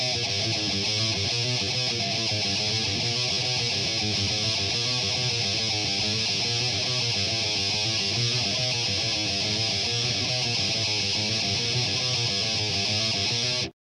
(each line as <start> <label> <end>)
0.0 guitar 13.8